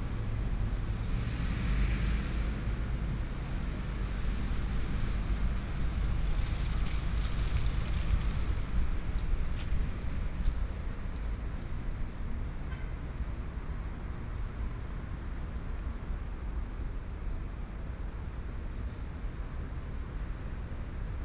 0.1s Train traveling through 6.9s

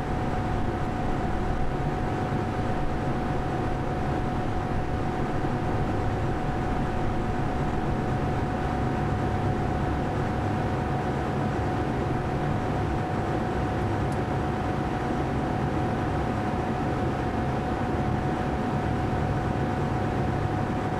0.0s noise of the air conditioner 20.9s

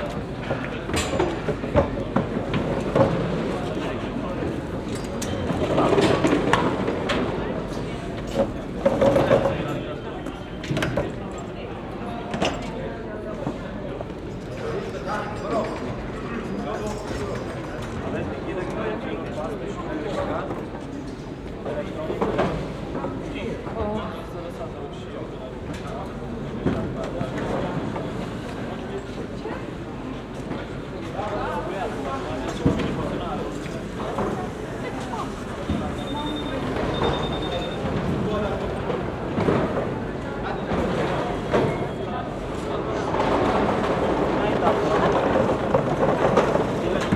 0.0s voices of the passengers 47.1s
36.0s electronic beeps from the body control 38.0s

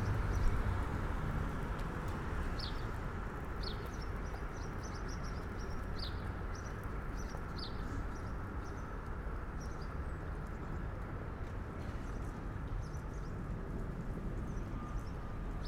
0.0s Traffic passing a small bridge 15.6s

